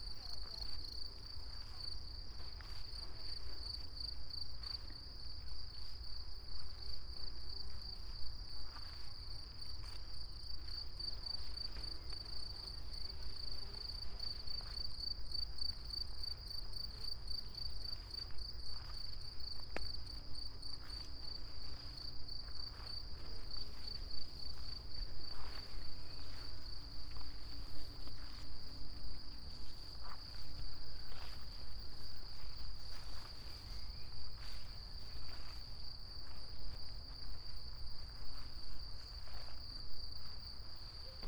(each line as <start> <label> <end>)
0.0 crickets 41.2
0.0 wind 41.2
20.8 high grass 41.0
22.7 steps 39.6